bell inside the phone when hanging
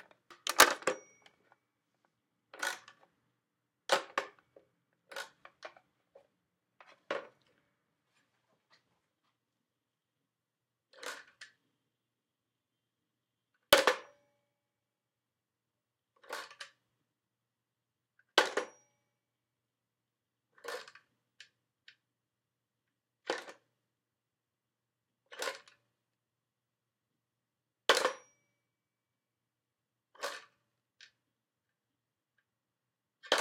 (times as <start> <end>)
0.4 1.5